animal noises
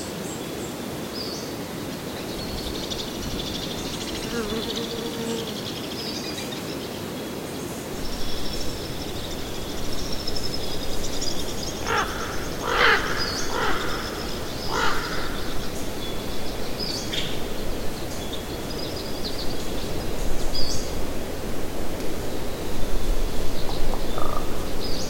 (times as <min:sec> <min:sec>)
0:08.0 0:18.4